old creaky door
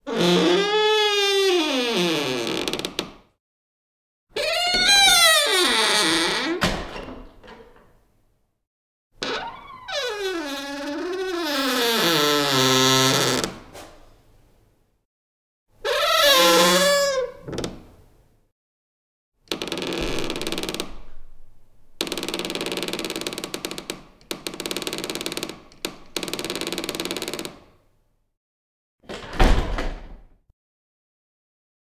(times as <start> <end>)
0.1 3.1, 4.4 7.9, 9.2 13.6, 15.9 17.8, 19.5 27.6